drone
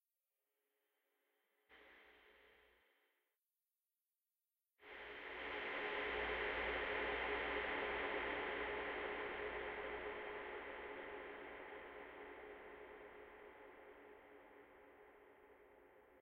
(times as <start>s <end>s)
4.9s 16.2s